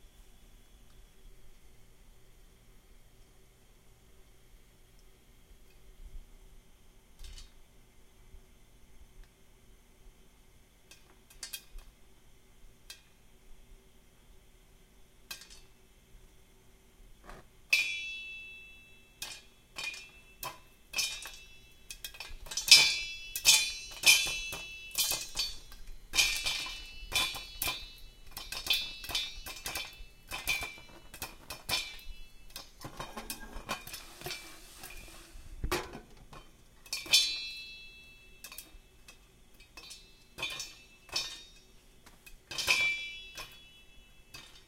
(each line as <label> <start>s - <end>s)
popcorn popping in a metal pot on an open burner 17.7s - 35.1s
popcorn popping in a metal pot on an open burner 35.7s - 44.6s